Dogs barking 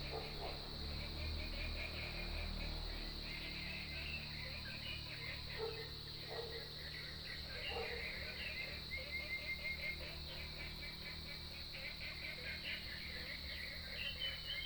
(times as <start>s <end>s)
0.0s 0.7s, 5.5s 6.8s, 7.6s 8.2s